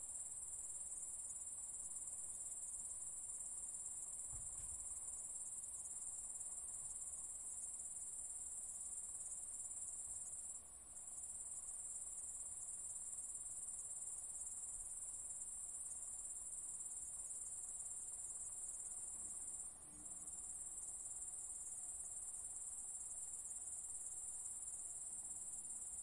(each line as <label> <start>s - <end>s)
Crickets 0.0s - 26.0s